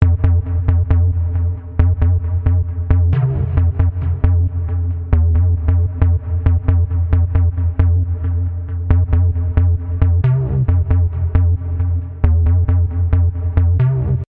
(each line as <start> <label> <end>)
0.0 boom bass 14.2